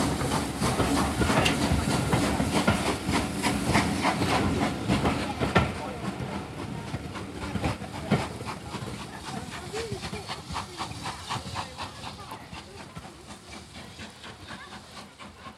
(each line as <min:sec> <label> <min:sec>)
0:00.0 train departing 0:15.5